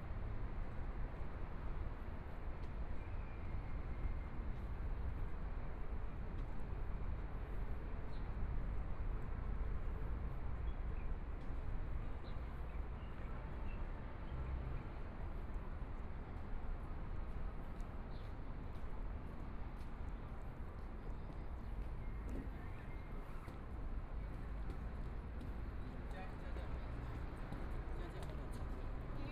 13.4s Traffic Sound 29.3s
14.8s Walking through the park 29.3s

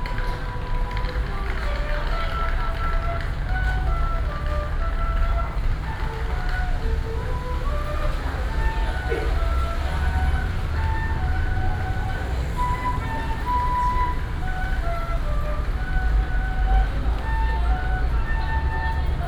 0.0s Traffic sound 19.2s
0.0s old Street artist 19.2s

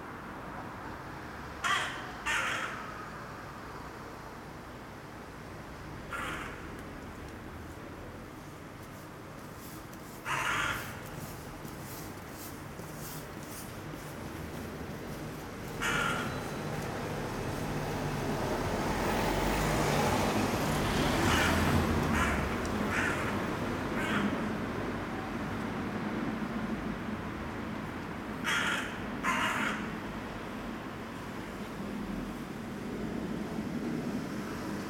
1.6s Raven 3.3s
6.0s Raven 6.8s
10.1s Raven 12.1s
15.6s Raven 18.3s
21.0s Raven 24.5s

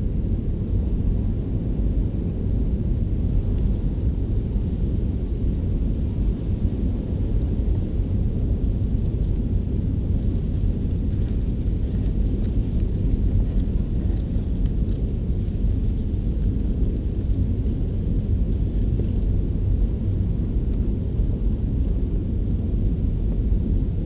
5.6s dried grass 22.1s

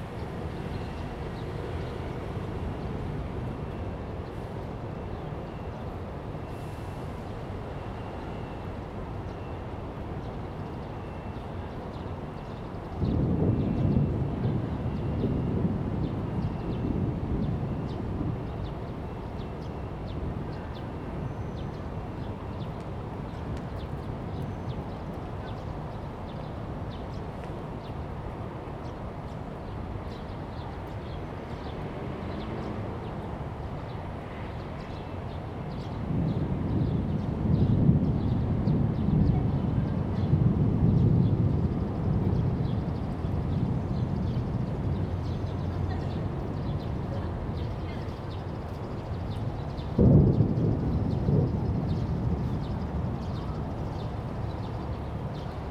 49.9s Thunder 53.2s

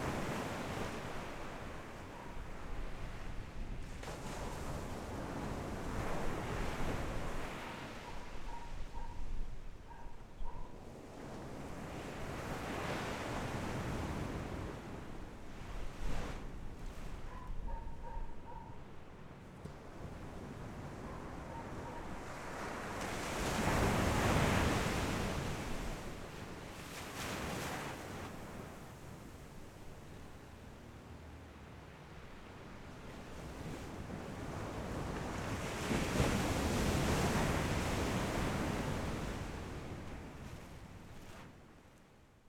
0.0s waves 42.1s

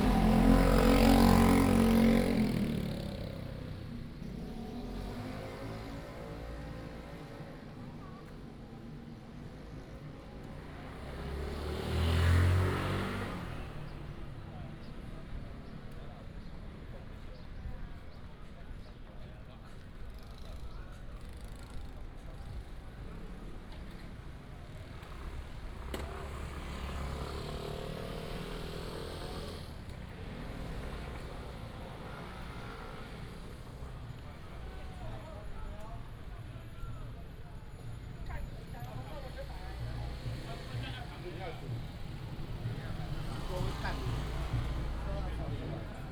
29.7s Walking in a small alley 46.1s

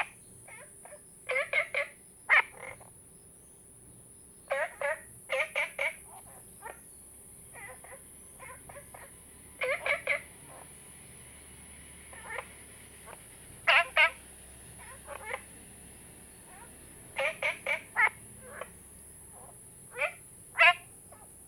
0.0s Frogs chirping 21.4s

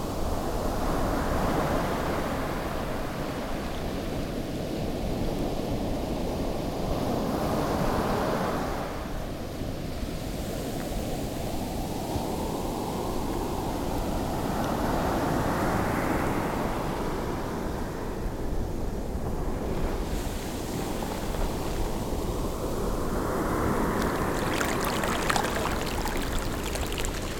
20.1s Ocean waves 27.3s
23.9s lapping water around feet in the sea foam 27.3s

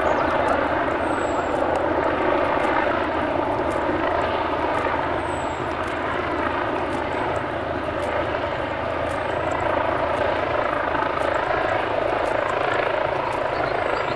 0.0s Police helicopter is patrolling the area 14.1s
0.0s Walking Through Bute Park 14.1s
0.0s squeaky bag over my shoulder 14.1s

